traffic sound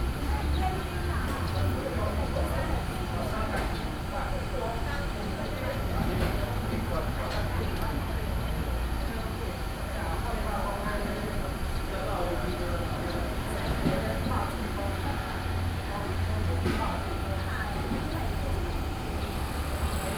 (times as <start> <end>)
13.2 20.1